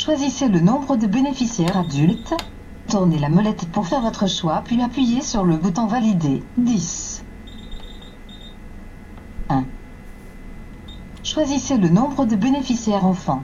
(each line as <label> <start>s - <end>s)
Train ticket machine 1.4s - 2.5s
Train ticket machine 7.5s - 9.3s